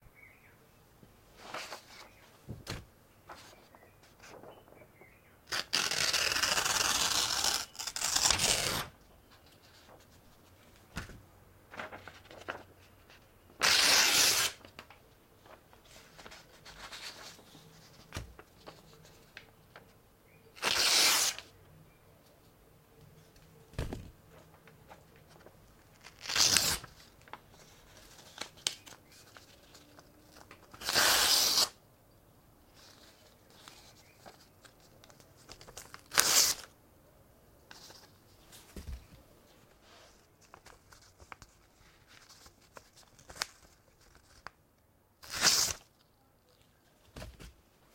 Tearing book pages 5.5 - 8.9
Tearing book pages 13.6 - 14.8
Tearing book pages 20.6 - 21.5
Tearing book pages 25.9 - 27.3
Tearing book pages 27.9 - 31.8
Tearing book pages 35.1 - 36.7
Tearing book pages 45.2 - 45.9

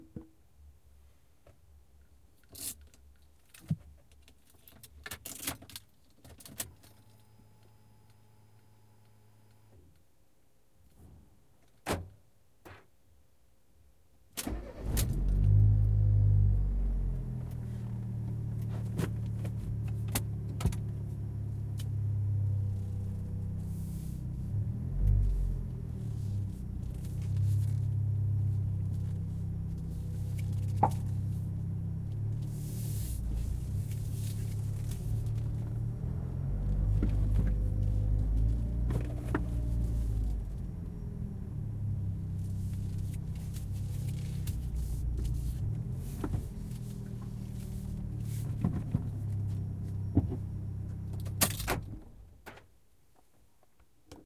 car start ignition 14.4 - 19.0
acceleration 14.5 - 51.4

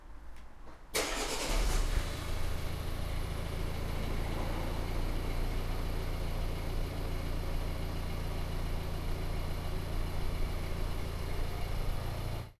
Car starting 0.9 - 12.5

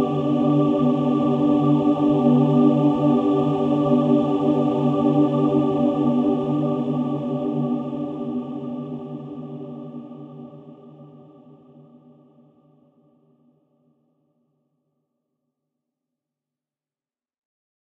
choirs 0.0 - 13.4

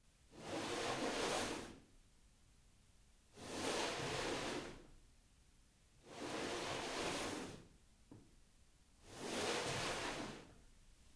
dragged something on the floor 6.0 - 7.7
dragged something on the floor 9.0 - 10.5

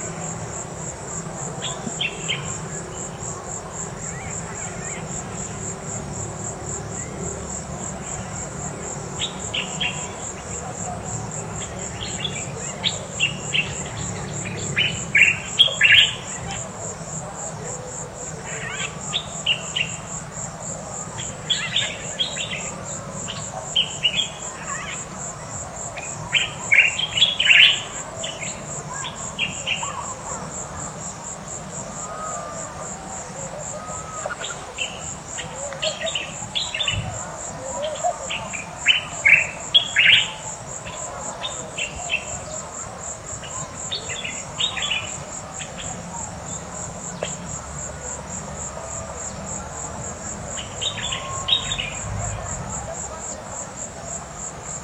birds 0.0 - 54.8
cars in the distance 0.0 - 54.8
crickets 0.0 - 54.8

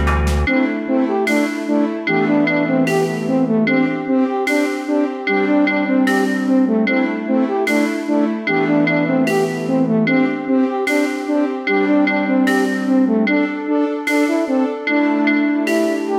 music 0.0 - 16.1

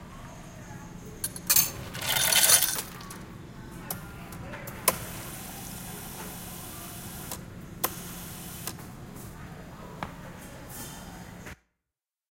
ice falling into a cup 1.5 - 3.2
drink filling up from a carbonated nozzle 1.7 - 3.2

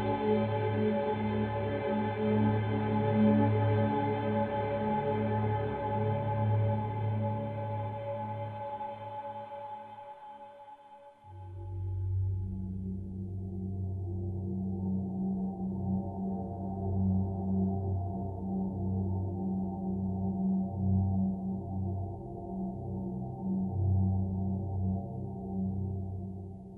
synthesizer 0.0 - 26.7

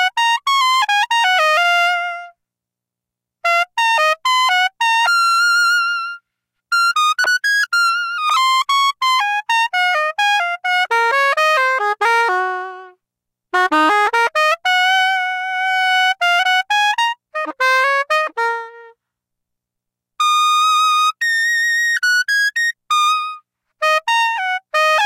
saxophone emulation 13.6 - 19.0
saxophone emulation 20.2 - 25.0

